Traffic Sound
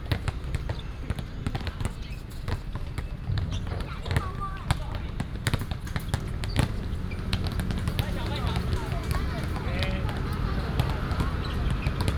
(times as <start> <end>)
3.1 12.1